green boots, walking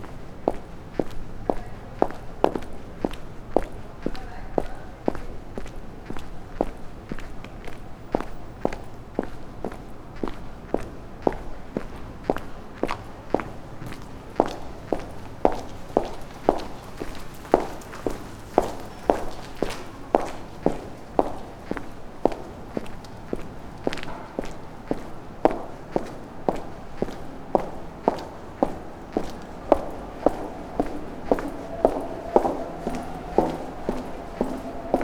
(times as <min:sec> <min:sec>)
0:22.3 0:35.0